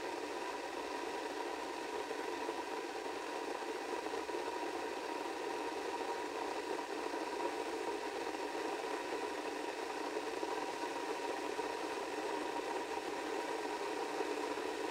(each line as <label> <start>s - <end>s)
Kettle Cycle 0.0s - 14.9s